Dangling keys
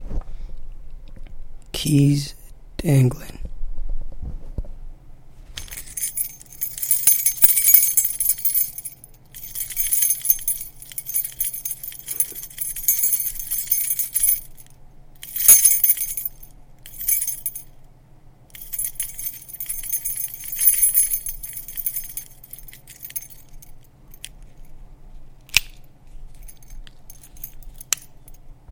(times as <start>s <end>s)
5.6s 17.7s, 18.6s 24.6s, 26.3s 28.4s